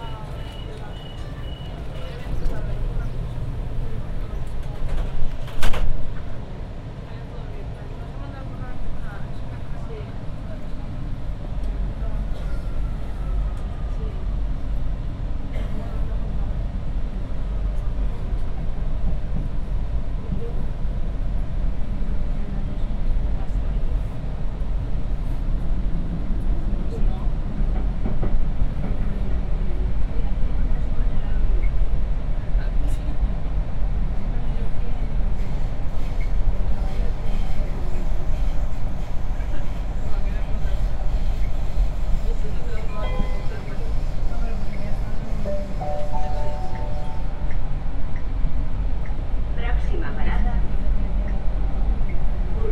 Metro 45.1 - 48.4

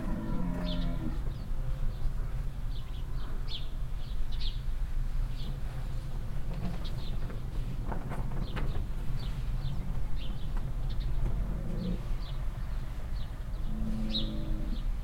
constantly loud mooing cow 0.0 - 1.4
birds chirping 0.0 - 4.6
Cars passing by in the nearby street 0.0 - 15.0
birds chirping 9.2 - 15.0
constantly loud mooing cow 11.3 - 12.1
constantly loud mooing cow 13.6 - 15.0

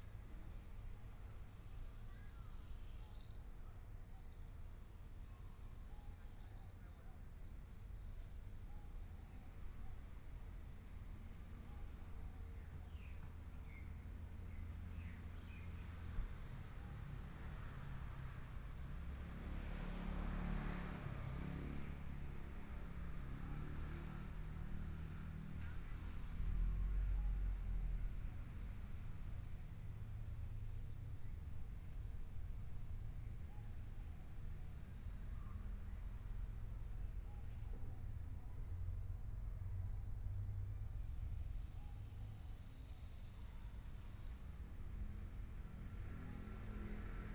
Traffic Sound 17.9 - 47.3

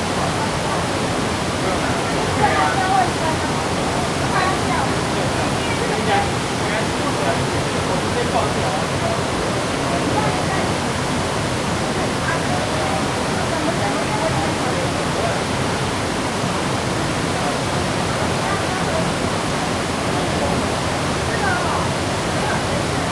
waterfall 0.0 - 23.1

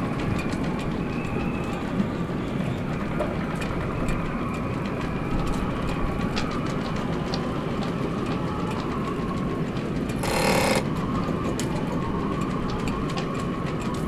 sounds from sailboats mast 10.2 - 10.9

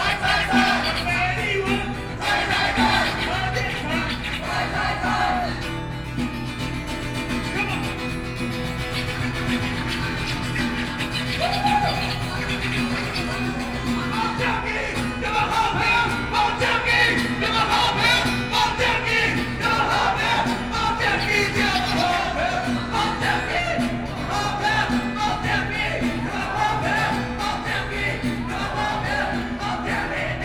shouting slogans 0.0 - 5.7
Rock band performing songs 0.0 - 30.4
shouting slogans 9.1 - 30.4

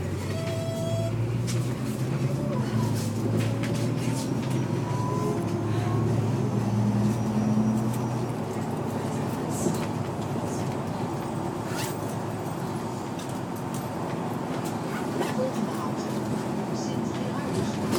articulated bus 0.0 - 17.9

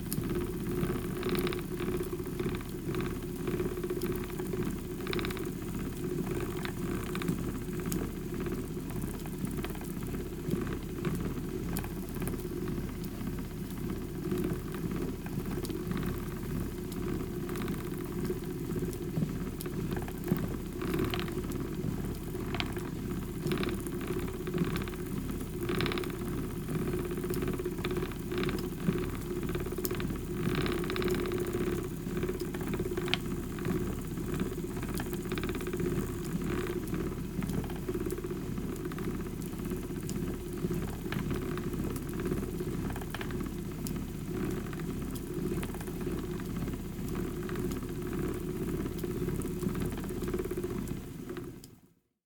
spinning Shetland wool on an old Shetland wheel 0.0 - 51.5

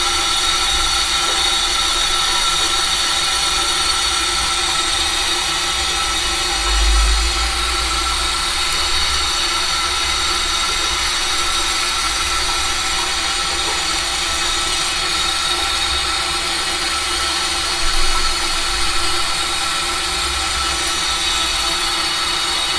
water leak 0.0 - 22.7

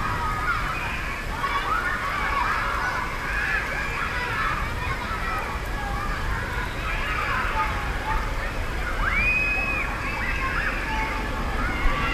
children's playground 0.0 - 12.1
rain 0.0 - 12.1

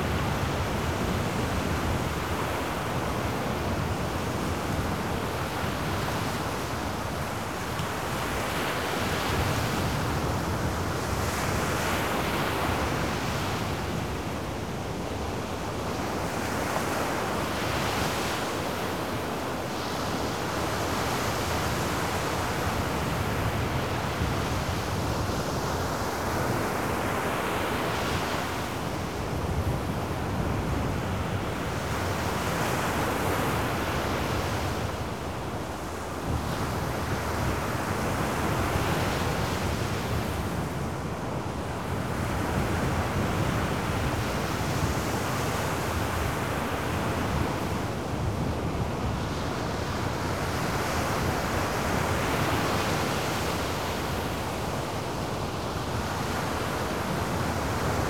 high waves blasting on the shore 0.0 - 58.0

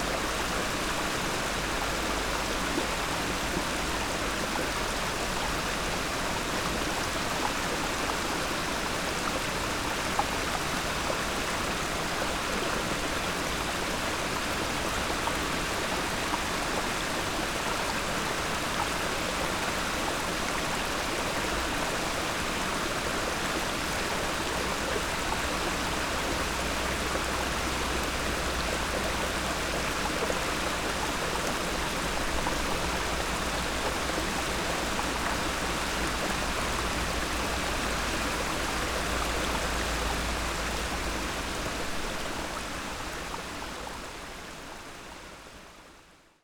waterflow under the stony bridge 0.0 - 46.4

